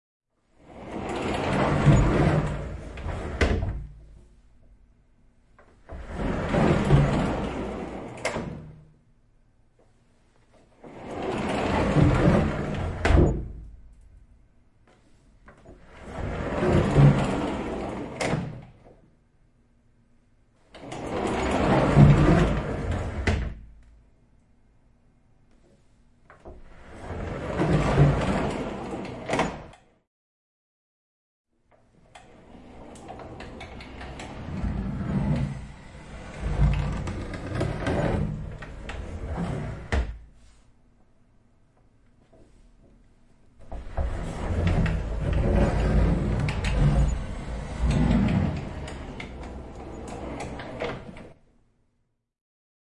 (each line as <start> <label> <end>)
0.6 Sliding door, wooden 4.3
5.6 Sliding door, wooden 8.9
9.8 Sliding door, wooden 14.0
14.9 Sliding door, wooden 19.0
20.7 Sliding door, wooden 23.8
25.6 Sliding door, wooden 30.0
31.8 Sliding door, wooden 40.7
43.6 Sliding door, wooden 51.4